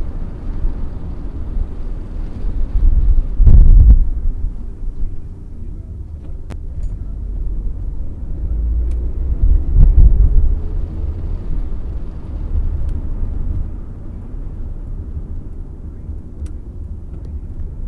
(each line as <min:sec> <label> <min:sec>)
0:00.0 car 0:17.8